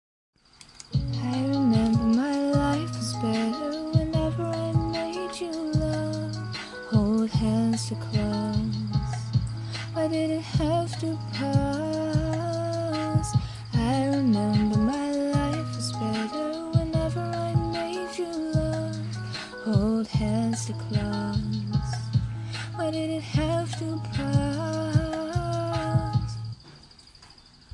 0.8s background music 26.6s
1.0s Female Vocal 26.6s

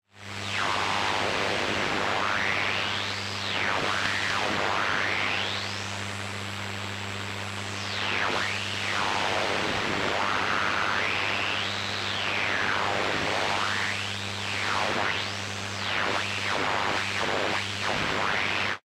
0.4s radio interferences 5.8s
6.6s radio interferences 18.8s

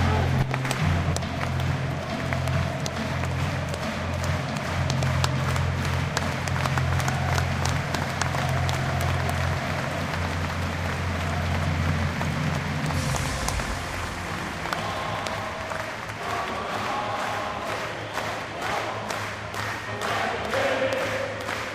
13.0s chanting 21.7s

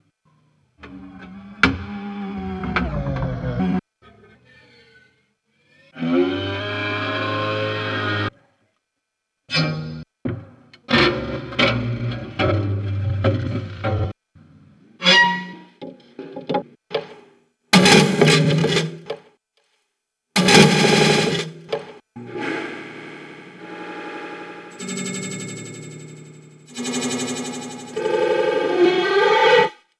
22.2s bowed cymbal 28.6s
22.2s comb filter feedback 28.8s

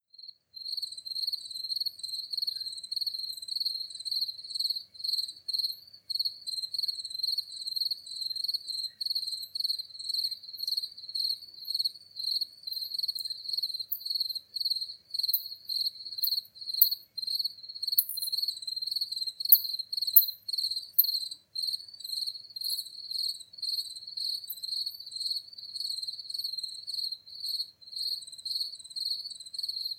0.1s Crickets 29.9s
0.1s wind 29.9s

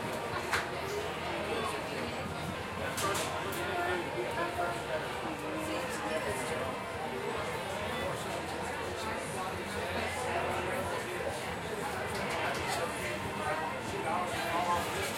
0.0s Crowd 15.1s

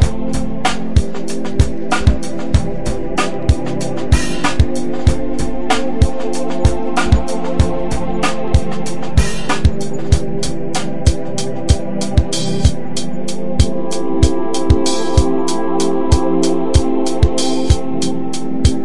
0.0s drum loop 18.8s

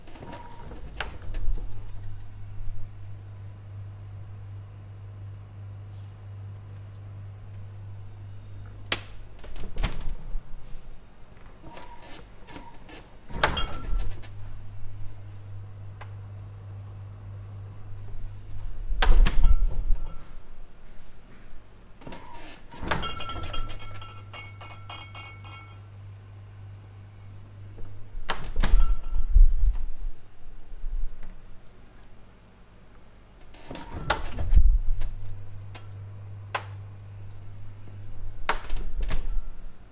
0.0s opening a Fridge door and closing 2.3s
8.8s opening a Fridge door and closing 10.4s
11.5s opening a Fridge door and closing 14.6s
18.0s opening a Fridge door and closing 20.4s
22.0s opening a Fridge door and closing 24.1s
27.7s opening a Fridge door and closing 30.0s
33.4s opening a Fridge door and closing 36.0s
38.2s opening a Fridge door and closing 39.6s

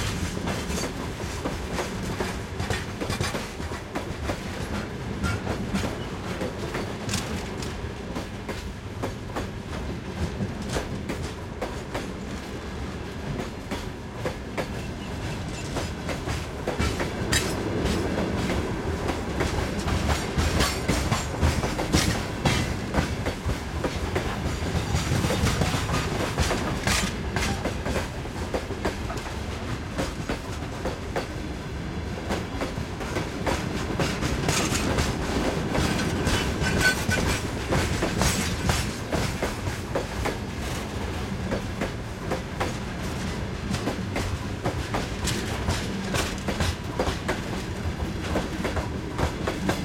0.0s freight train at low speed passes 49.8s

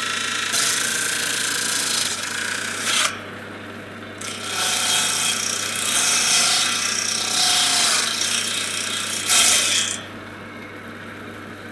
0.0s saw 3.3s
4.2s saw 10.1s

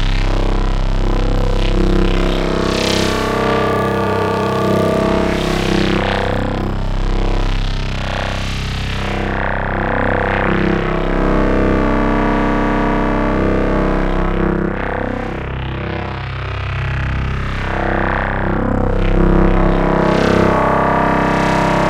0.0s crunchy soul smeltin bass cronk 15.6s

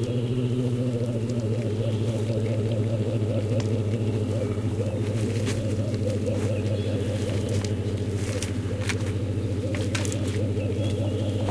0.0s Birds in the bg 11.5s
0.0s bears waking up 11.5s

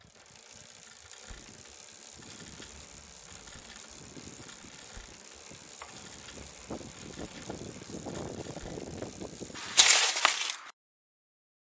0.1s Mountain-Bike Crash 10.7s

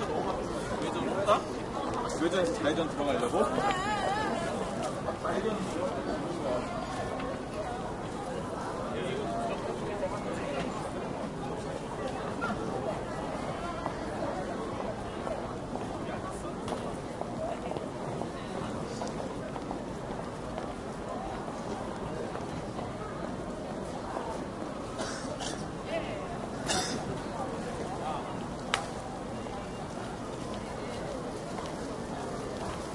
0.0s people talking and walking 32.9s
25.0s cough 25.7s
26.6s cough 27.1s

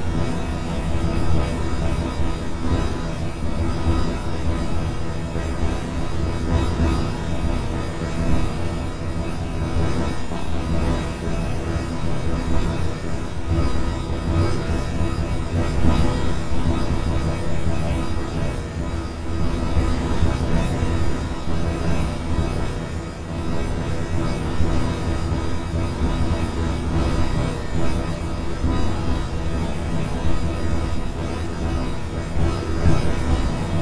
0.0s ambient droning noisescape 33.8s

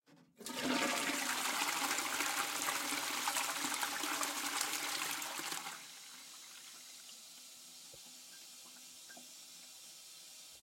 0.4s Flushing the toilet 10.6s

